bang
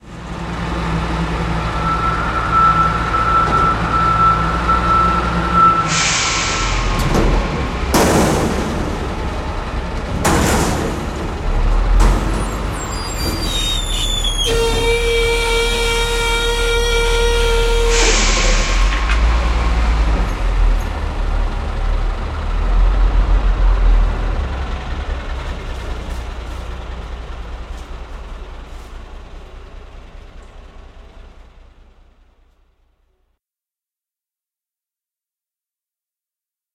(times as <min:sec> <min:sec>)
0:06.2 0:09.5, 0:10.1 0:13.9